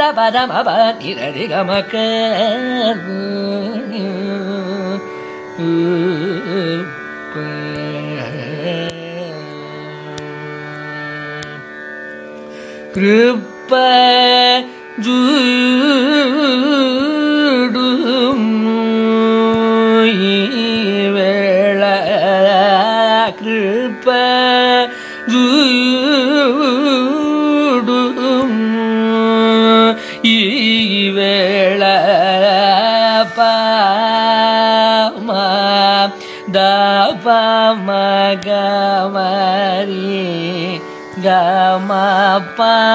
Carnatic varnam 0:00.0 - 0:42.9

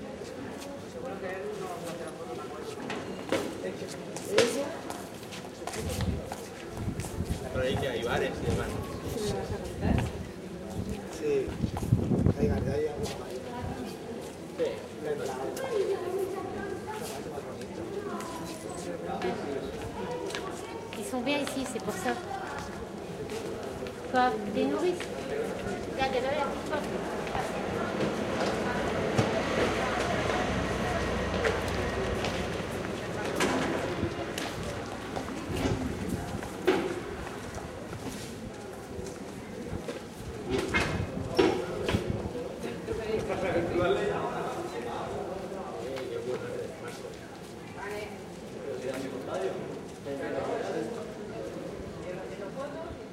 people’s steps as they walk on a heavy floor 0:00.0 - 0:52.5

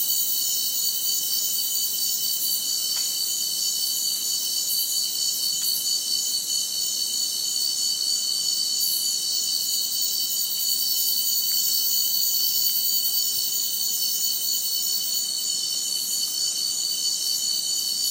cicada 0:00.0 - 0:18.1
crickets 0:00.0 - 0:18.1

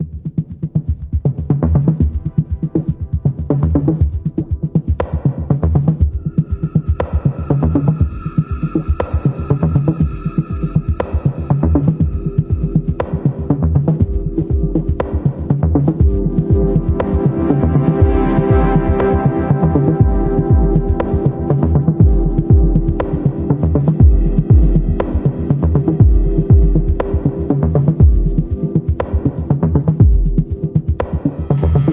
arpeggiator 0:00.3 - 0:31.9

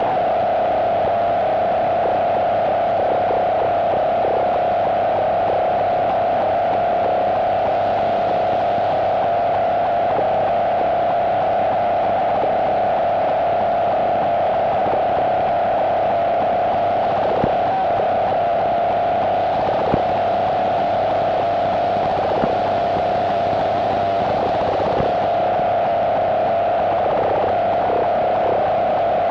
static 0:00.0 - 0:29.3

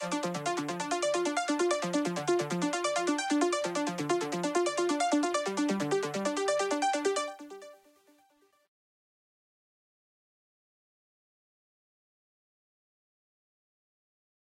synth 0:00.0 - 0:07.9

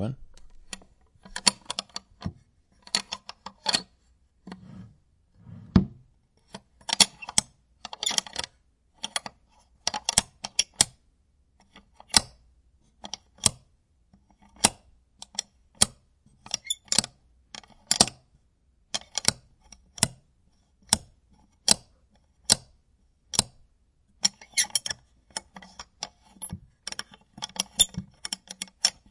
wood drawers open close 0:04.5 - 0:06.0

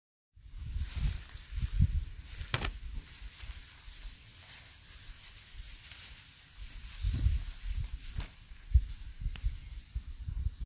dry rustling sound 0:00.5 - 0:10.0

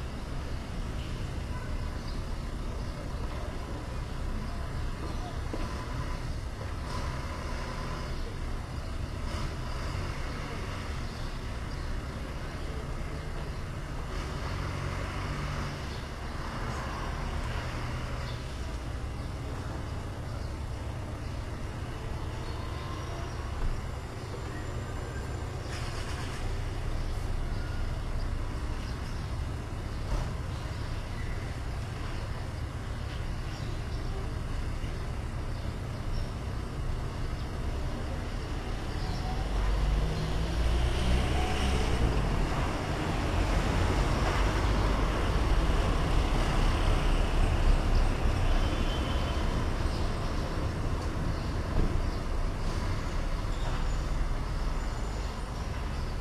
cars passing by 0:00.0 - 0:56.2
city rumble 0:00.0 - 0:56.2
front door of the building across the street opening and closing 0:00.0 - 0:56.2
sparrows singing on the trees 0:00.0 - 0:56.2
trains going from and to the station 0:00.0 - 0:56.2

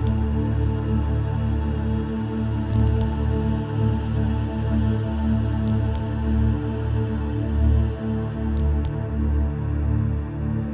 d bass 0:00.0 - 0:10.7

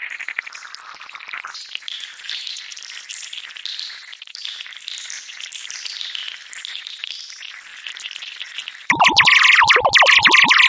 trainlet synthesis 0:08.9 - 0:10.6

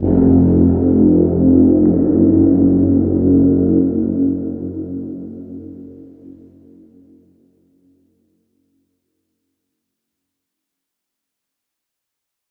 Horn 0:00.0 - 0:06.5

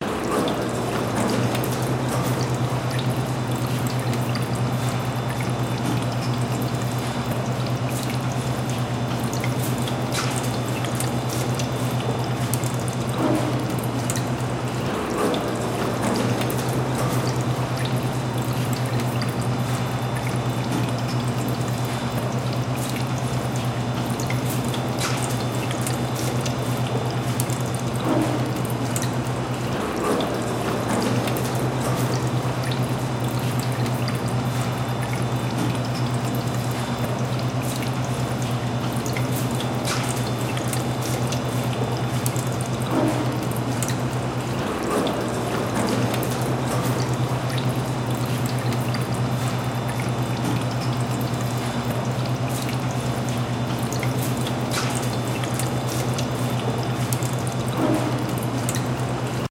Water Fountain 0:00.0 - 0:59.5

